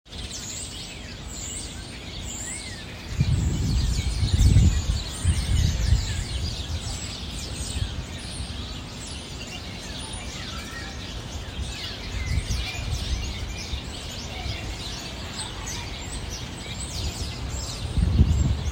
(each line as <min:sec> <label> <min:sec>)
0:00.1 birdsong 0:18.7